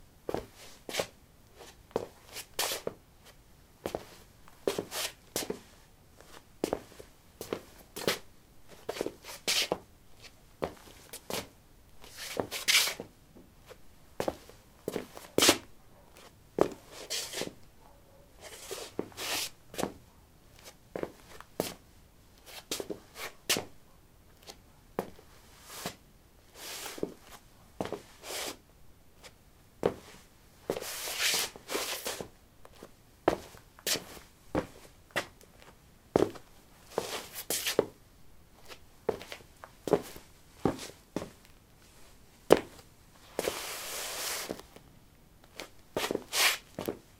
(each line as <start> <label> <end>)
13.7 Shuffling on linoleum 21.8
29.2 Shuffling on linoleum 37.9
38.6 Shuffling on linoleum 44.8
45.5 Shuffling on linoleum 47.0